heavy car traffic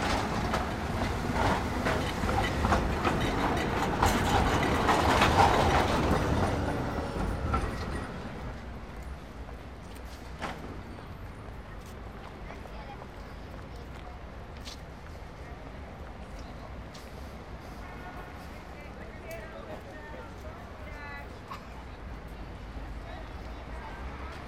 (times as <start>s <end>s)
0.0s 13.0s